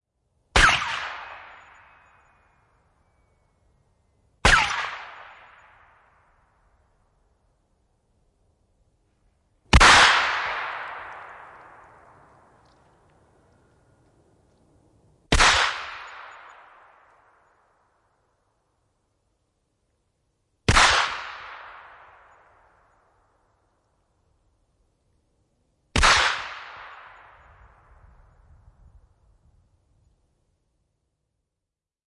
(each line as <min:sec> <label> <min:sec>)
0:00.5 ricochets 0:02.6
0:00.6 single shots at a distance 0:02.4
0:04.4 ricochets 0:06.6
0:04.4 single shots at a distance 0:06.4
0:09.7 ricochets 0:13.7
0:09.7 single shots at a distance 0:12.6
0:15.3 ricochets 0:17.8
0:15.3 single shots at a distance 0:17.4
0:20.7 single shots at a distance 0:23.0
0:20.7 ricochets 0:23.0
0:26.0 single shots at a distance 0:27.9
0:26.0 ricochets 0:28.0